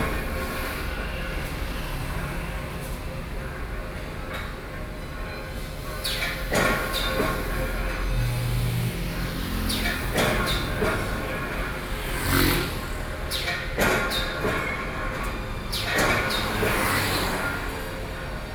traffic noise 0:00.0 - 0:18.5
factory mechanical operation 0:00.0 - 0:18.5

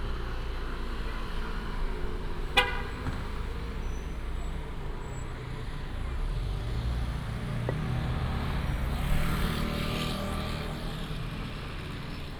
Walk outside the school 0:00.0 - 0:12.3
traffic sound 0:00.0 - 0:12.3

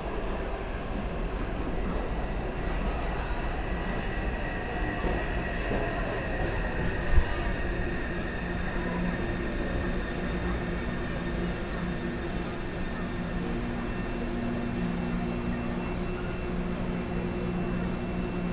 train 0:00.0 - 0:18.5

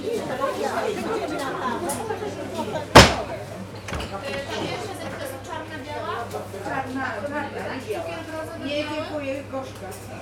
people making orders 0:00.0 - 0:10.1

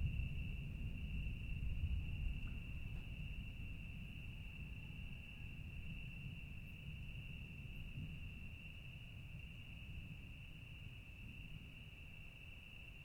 Thunderstorm in the distance 0:00.0 - 0:13.0

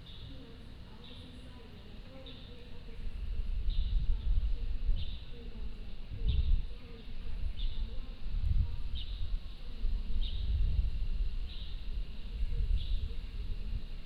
Birdsong 0:00.0 - 0:02.8

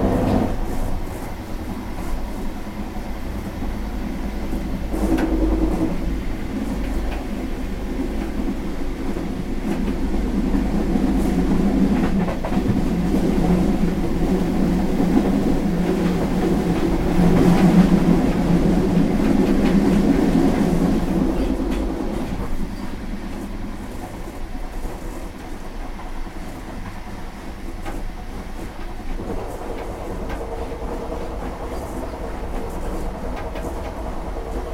inside arriving train 0:00.0 - 0:34.7

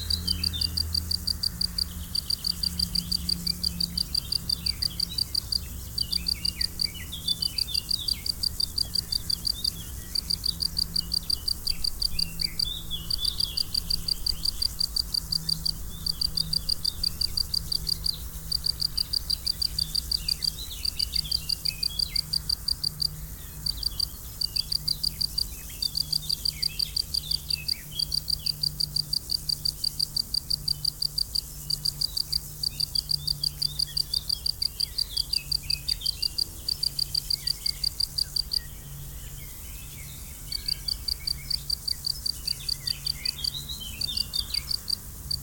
stridulations des grillons 0:00.0 - 0:38.6

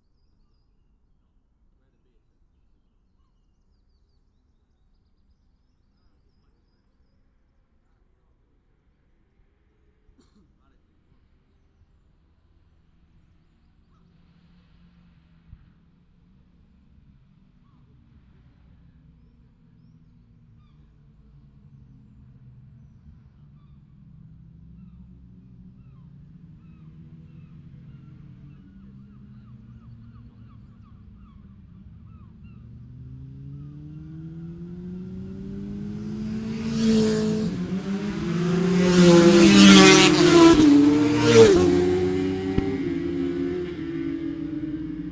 motorcycle road racing 0:12.5 - 0:45.1

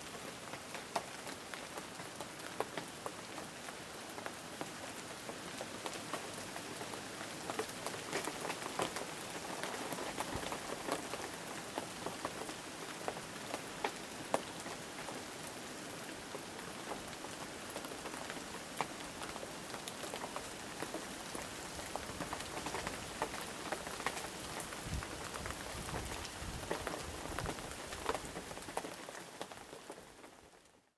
rain on leaves 0:00.0 - 0:30.9

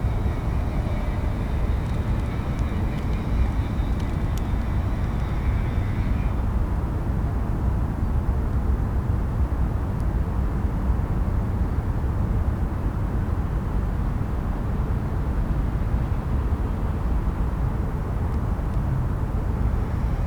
sizzling noise of a reed screen fence 0:00.0 - 0:06.6
local trains passing by 0:00.0 - 0:08.0
distant drone of traffic 0:00.0 - 0:20.2
local trains passing by 0:13.5 - 0:20.2

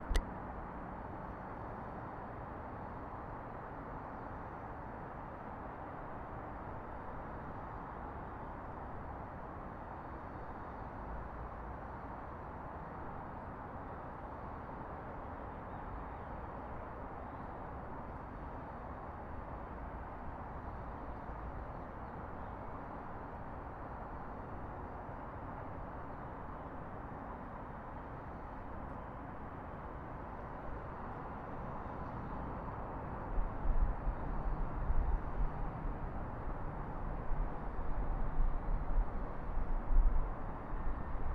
hum of the highway 0:00.0 - 0:41.3
train 0:00.1 - 0:41.3
birds singing in the background 0:15.4 - 0:16.4
birds singing in the background 0:20.6 - 0:22.7
birds singing in the background 0:31.6 - 0:32.6

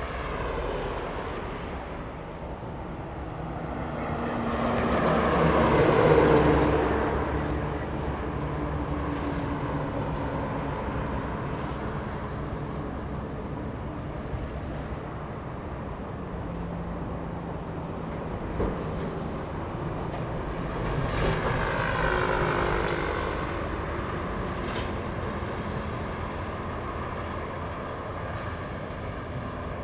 Traffic sound 0:00.0 - 0:29.8

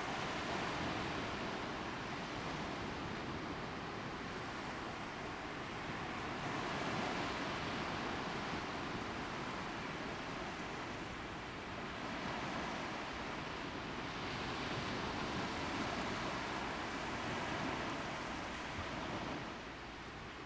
waves 0:00.0 - 0:20.4

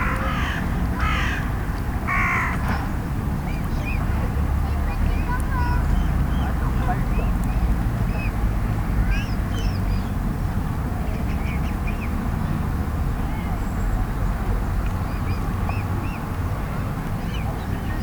Crow calls 0:00.0 - 0:02.6
Distant traffic 0:00.0 - 0:18.0

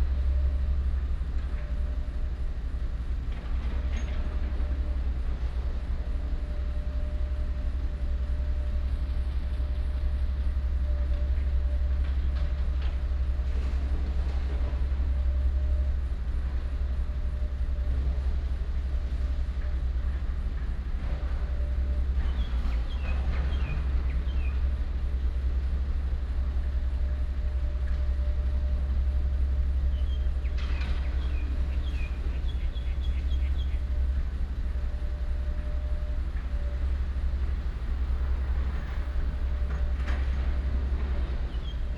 traffic sound 0:04.5 - 0:41.9
birds 0:29.9 - 0:36.8
Demolition of old house 0:39.9 - 0:41.9
birds 0:41.2 - 0:41.9

